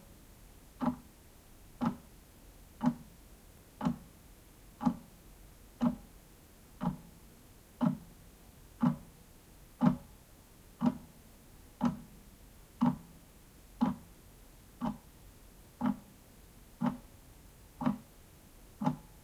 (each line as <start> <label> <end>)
0.8 Clock ticks 1.1
1.8 Clock ticks 2.1
2.8 Clock ticks 3.1
3.8 Clock ticks 4.1
4.8 Clock ticks 5.1
5.8 Clock ticks 6.1
6.8 Clock ticks 7.2
7.8 Clock ticks 8.1
8.8 Clock ticks 9.1
9.8 Clock ticks 10.1
10.8 Clock ticks 11.1
11.8 Clock ticks 12.1
12.8 Clock ticks 13.2
13.8 Clock ticks 14.1
14.8 Clock ticks 15.1
15.8 Clock ticks 16.1
16.8 Clock ticks 17.1
17.8 Clock ticks 18.1
18.8 Clock ticks 19.2